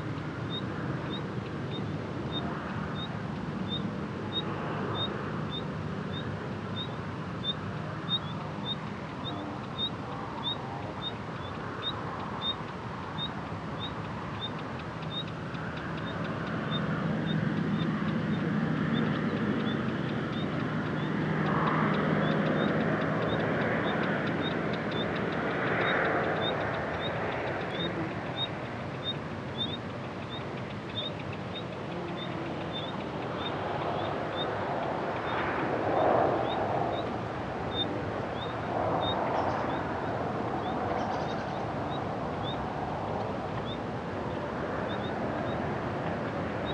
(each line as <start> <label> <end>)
22.2 Sonidos distantes del tráfico 46.7